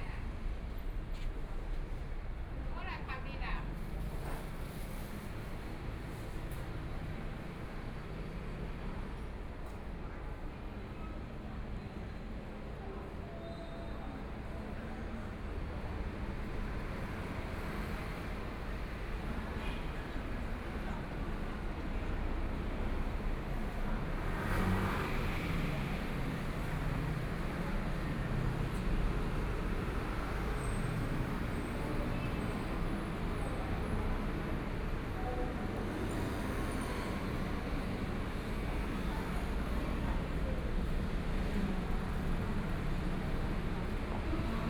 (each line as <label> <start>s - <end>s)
Traffic Sound 15.4s - 44.6s
Walking on the road 37.6s - 44.6s